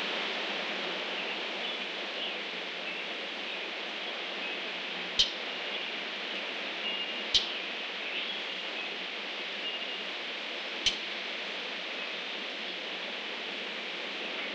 0.0s wind 14.5s
1.1s Birds 10.1s
10.8s Birds 11.1s

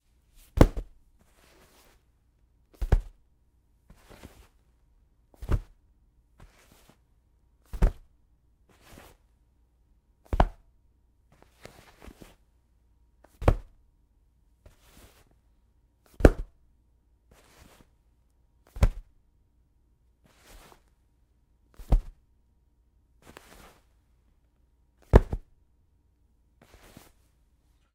0.4s Tossing a hardcover book on a bed 2.0s
2.8s Tossing a hardcover book on a bed 3.2s
5.4s Tossing a hardcover book on a bed 5.8s
7.7s Tossing a hardcover book on a bed 8.1s
10.3s Tossing a hardcover book on a bed 10.6s
13.4s Tossing a hardcover book on a bed 13.8s
16.2s Tossing a hardcover book on a bed 16.5s
18.7s Tossing a hardcover book on a bed 19.1s
21.8s Tossing a hardcover book on a bed 22.2s
23.2s Tossing a hardcover book on a bed 23.9s
25.0s Tossing a hardcover book on a bed 25.5s

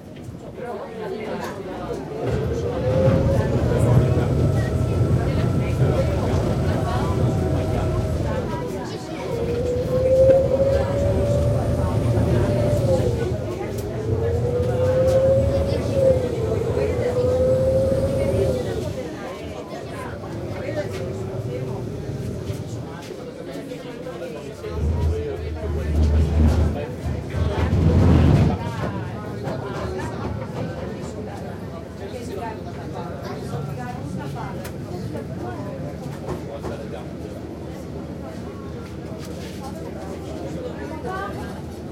0.0s tourists talking in many languages 41.9s
0.0s vaporetto, or water-bus, leaving a station and proceeding down the canal 41.9s

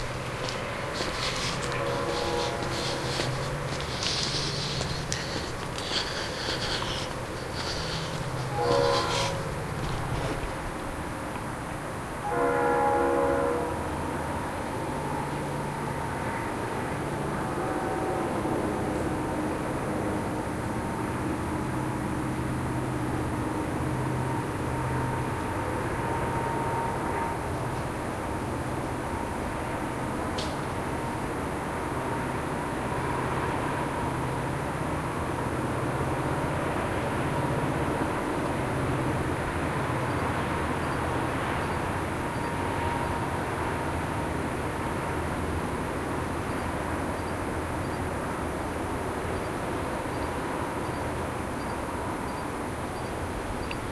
0.0s walking 11.0s
0.0s train 53.9s

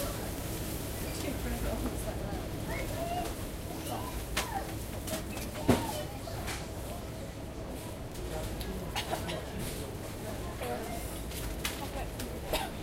1.0s people 12.8s

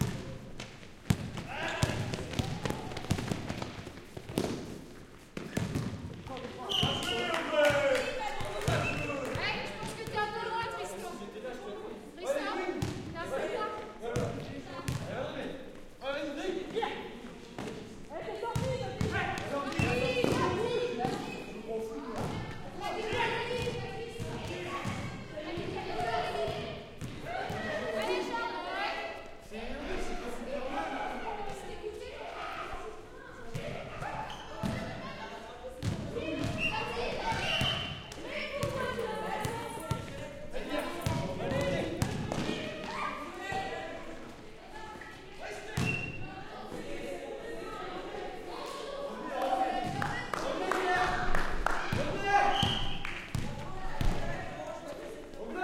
0.0s people 55.6s
45.8s jeu de basket 46.3s

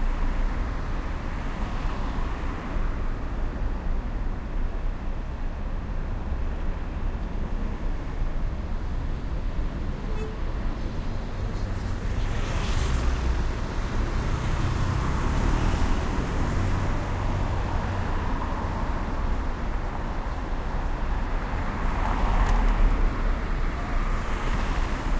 7.8s Traffic passing by 25.1s

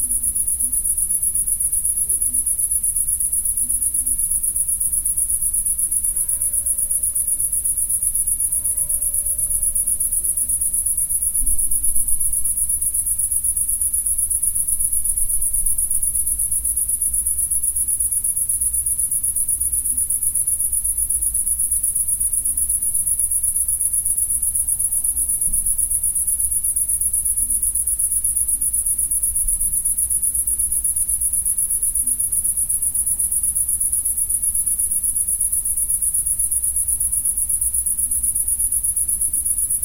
0.0s crickets 39.8s

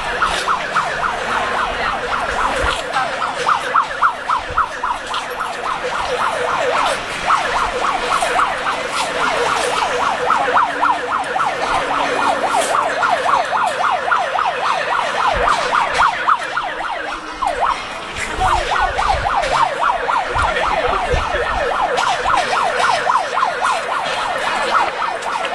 0.0s crowd 25.5s

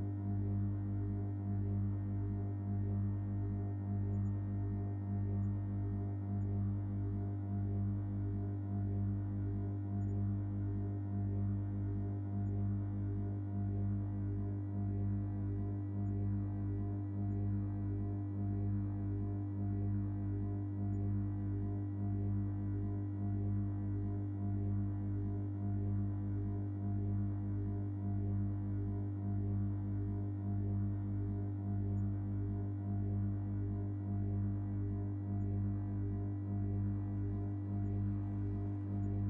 1.5s electrical hum 39.2s

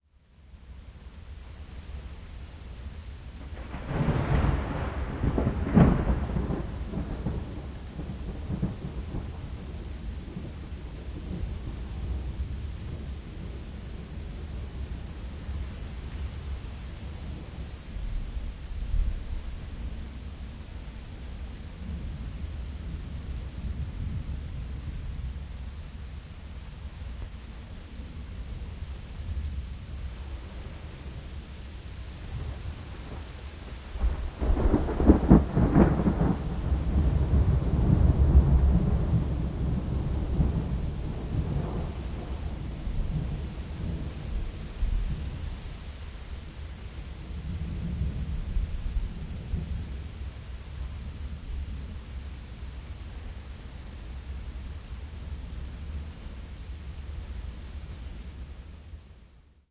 0.0s rain 59.7s
3.4s less sharp thunder rumblings 20.1s
27.6s less sharp thunder rumblings 52.3s

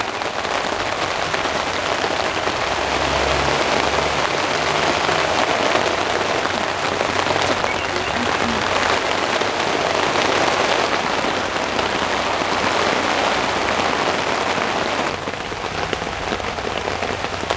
0.0s rain falling on my tent 17.5s

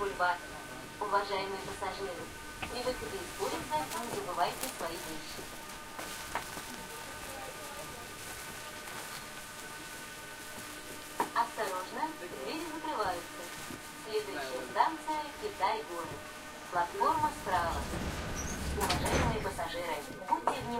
0.0s people talking 0.4s
0.0s intercom announcements 5.6s
0.0s subway train ride 20.7s
1.0s people talking 5.5s
6.7s people talking 8.2s
11.3s intercom announcements 20.7s
11.4s people talking 13.5s
14.1s people talking 20.7s

